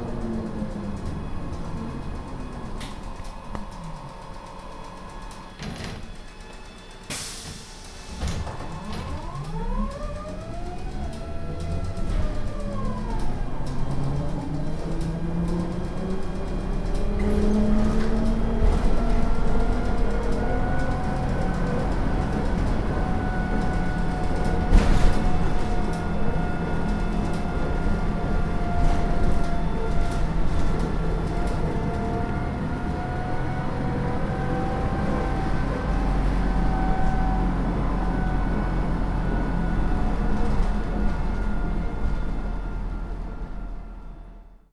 inside of an empty trolleybus driving 0:00.0 - 0:44.7

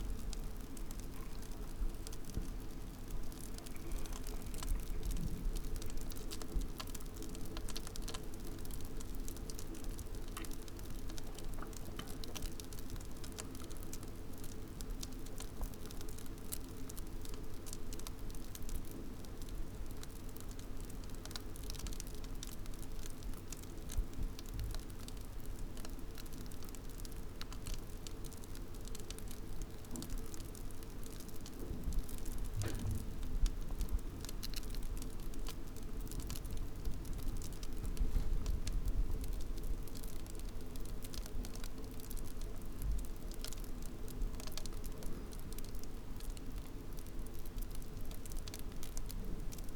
crackling foam in the sink 0:00.0 - 0:49.7

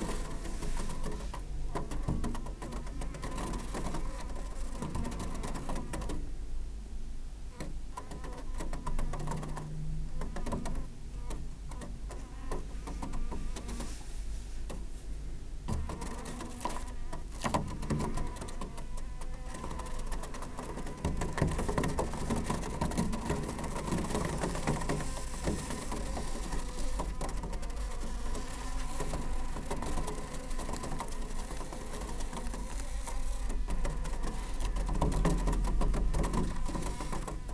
fruit flies trapped under a plastic wrap 0:18.9 - 0:37.5

